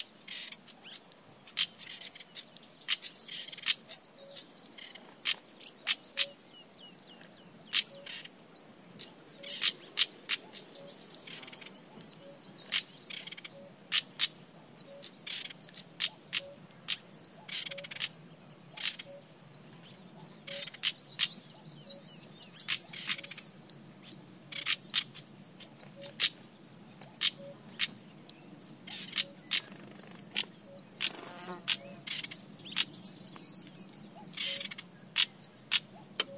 Cuckoo 0:01.6 - 0:06.4
Cuckoo 0:07.7 - 0:08.3
Cuckoo 0:09.3 - 0:19.3
Cuckoo 0:20.2 - 0:23.5
Cuckoo 0:24.5 - 0:26.4
Cuckoo 0:27.0 - 0:28.0
Cuckoo 0:28.9 - 0:32.9
Cuckoo 0:34.1 - 0:36.3

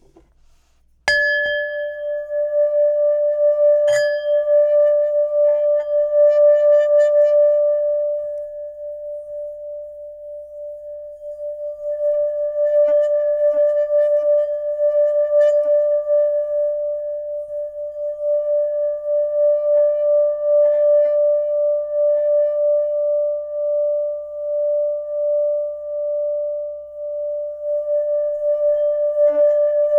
metal singing bowl being struck once and resonated with a felt stick 0:01.1 - 0:02.6
metal singing bowl being struck once and resonated with a felt stick 0:03.8 - 0:04.7

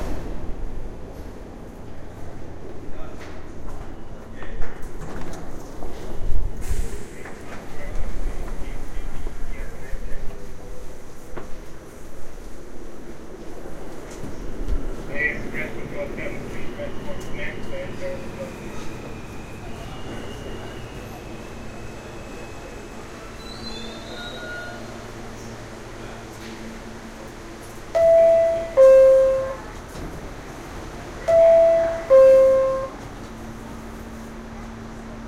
Approaching, idling and departing downtown-bound trains 0:00.0 - 0:35.2
Announcements 0:15.0 - 0:23.2
Announcements 0:27.2 - 0:33.6

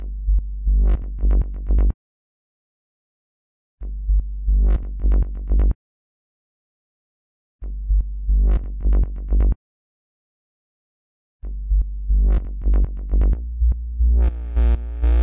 synthesized bass 0:00.0 - 0:02.0
synthesized bass 0:03.8 - 0:05.8
synthesized bass 0:07.6 - 0:09.6
synthesized bass 0:11.4 - 0:15.2

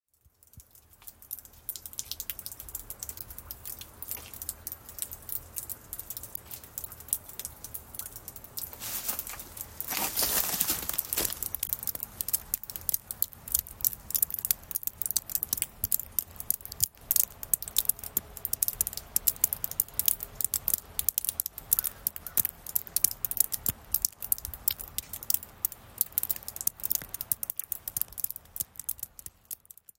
dripping icicle 0:00.0 - 0:29.9
Ice melting 0:03.8 - 0:19.0
snowy crunch 0:08.6 - 0:11.7

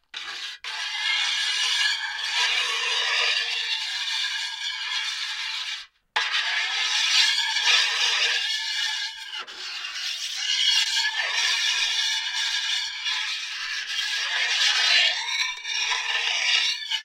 Sink knife scrape 0:00.1 - 0:17.0

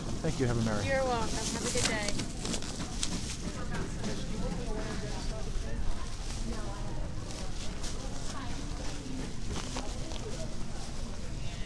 Conversations around a checkout counter 0:00.0 - 0:11.6

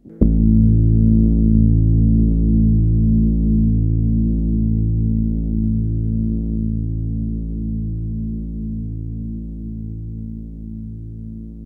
low rumble 0:00.0 - 0:11.6

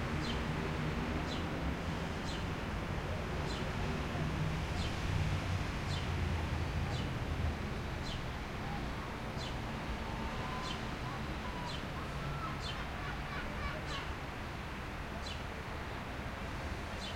occasional close throaty car pass 0:00.0 - 0:17.0
traffic medium distant 0:00.0 - 0:17.1

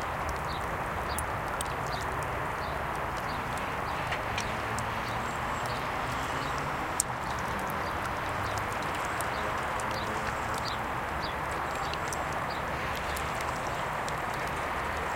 river 0:00.0 - 0:15.1

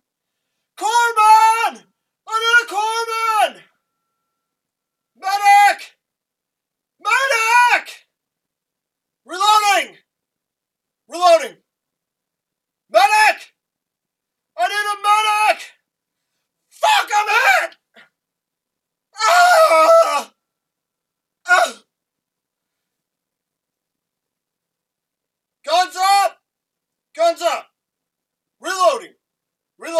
soldiers yelling 0:16.8 - 0:17.8

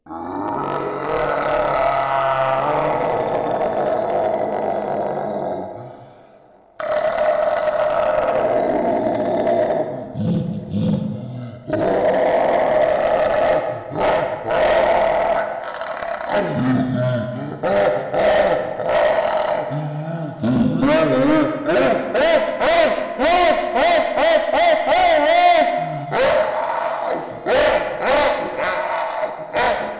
wild chimpanzee imitation performed by a human 0:00.0 - 0:29.9
Demonic beast roars 0:00.1 - 0:06.1
Demonic beast roars 0:06.8 - 0:22.1
Demonic beast roars 0:25.6 - 0:29.9

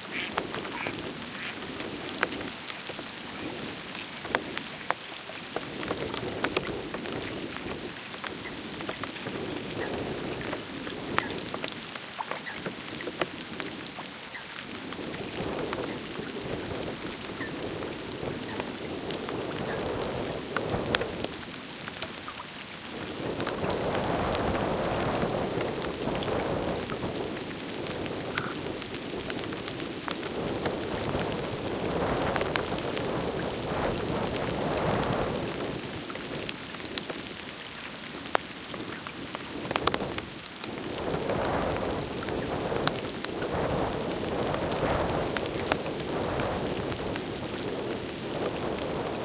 raindrops on the windscreen 0:00.0 - 0:49.2
wind rumble 0:14.6 - 0:22.2
wind rumble 0:22.8 - 0:37.5
wind rumble 0:38.1 - 0:49.2

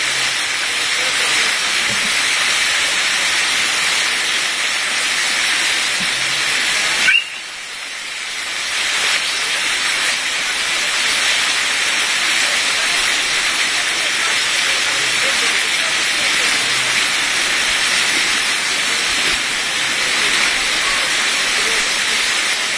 children are taking a dip 0:00.0 - 0:22.7
fountain 0:00.0 - 0:22.7
splash 0:00.0 - 0:22.7

